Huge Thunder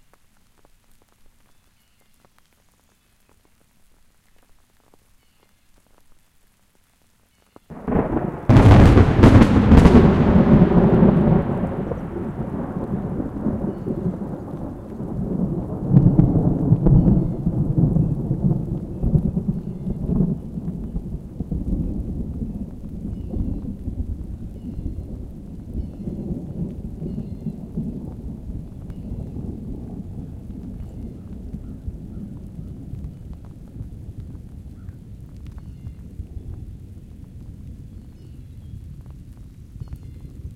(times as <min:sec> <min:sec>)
0:07.7 0:34.8